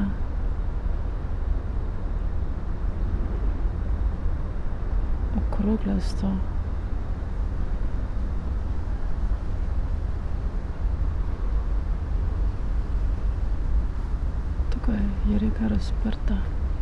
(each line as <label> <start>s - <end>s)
river ship 0.0s - 16.8s
streets and river traffic 0.0s - 16.8s
wind 0.0s - 16.8s